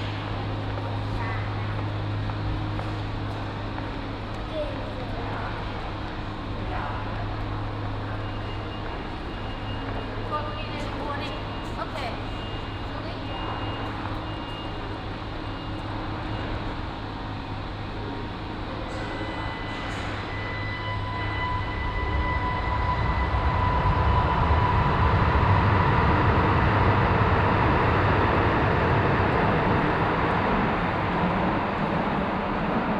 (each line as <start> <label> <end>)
0.0 subways driving in and out the station 32.9